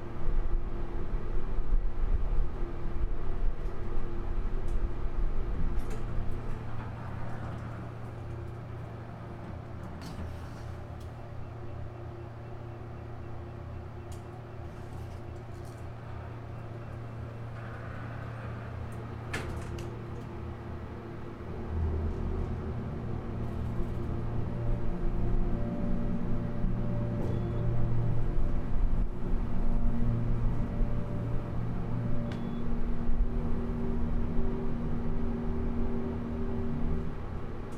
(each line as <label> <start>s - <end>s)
trip on the Montgomery elevator 0.0s - 37.7s